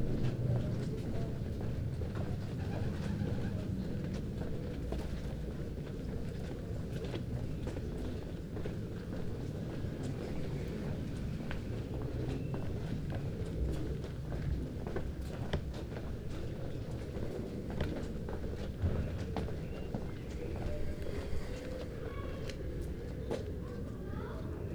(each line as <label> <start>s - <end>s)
Quiet street steps 0.0s - 24.4s
Birds 18.9s - 23.2s
Children 18.9s - 24.7s